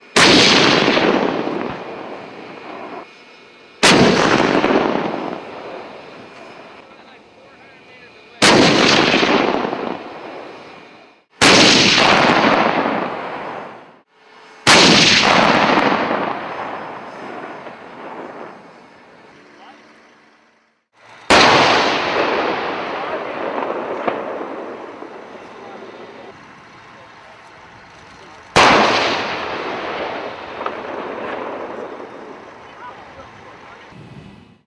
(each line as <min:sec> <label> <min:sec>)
0:00.0 Tank shots fired 0:03.0
0:03.8 Tank shots fired 0:06.8
0:08.4 Tank shots fired 0:10.8
0:11.4 Tank shots fired 0:13.9
0:14.6 Tank shots fired 0:19.3
0:21.2 Tank shots fired 0:26.4
0:27.8 Tank shots fired 0:33.8